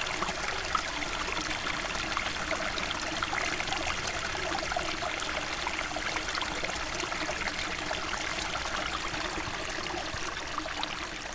peaceful little stream, hurtling the mountain 0:00.0 - 0:11.3

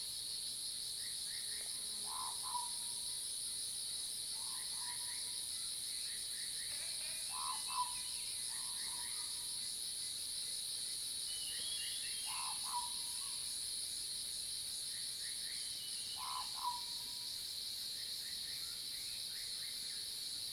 Cicadas cry 0:00.1 - 0:20.5
Frog sounds 0:02.0 - 0:02.8
Frog sounds 0:06.7 - 0:08.0
Frog sounds 0:12.3 - 0:13.2
Frog sounds 0:16.1 - 0:17.1

